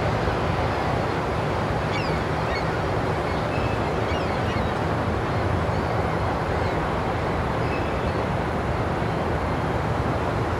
1.9s seagullss 4.8s

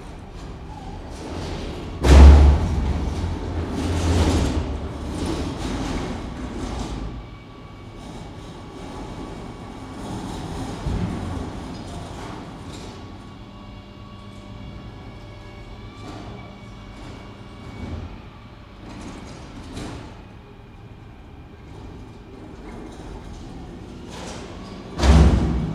0.0s Collecting bins from gentrifying flats 25.7s

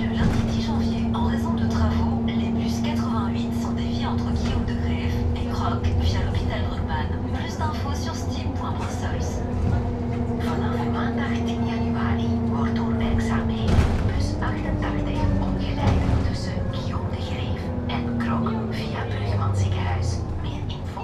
0.0s In the Bus 21.0s

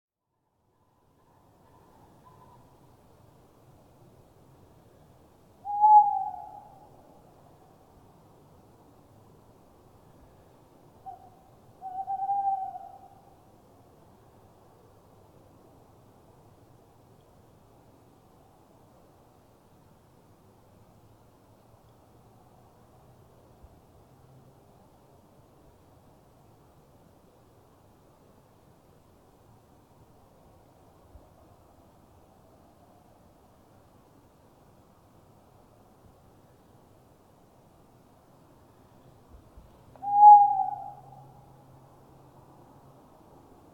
0.7s Owls 2.8s
5.6s Owls 7.0s
11.0s Owls 13.4s
39.9s Owls 41.5s

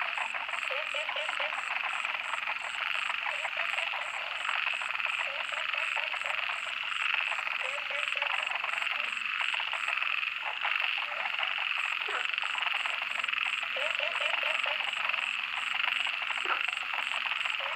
0.0s Frogs chirping 17.7s

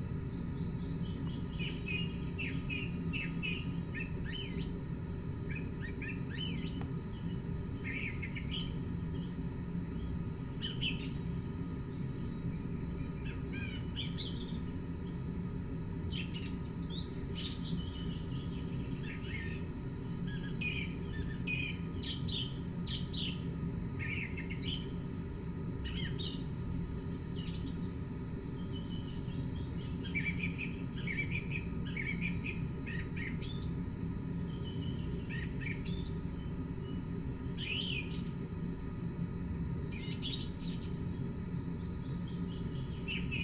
0.0s artificial nature ambience 43.4s

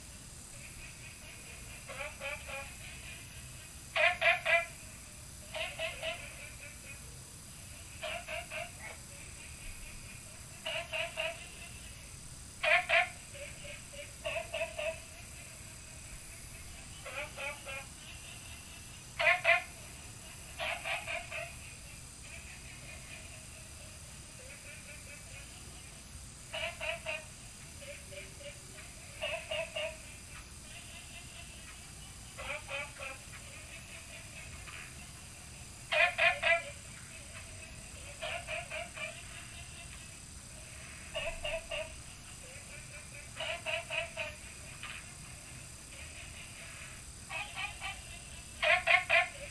0.1s Frog calls 49.5s

